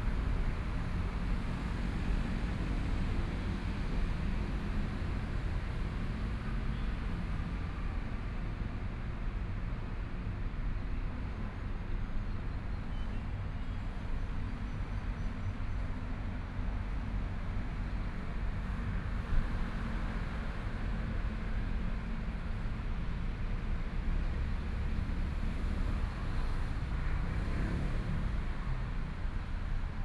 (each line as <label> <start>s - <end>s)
Traffic Sound 11.4s - 30.0s